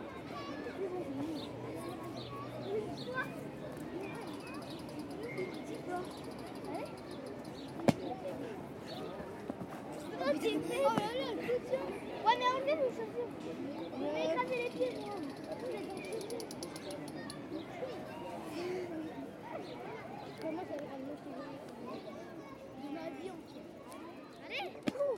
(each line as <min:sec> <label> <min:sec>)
0:14.4 Kids playing with a toy gun 0:17.6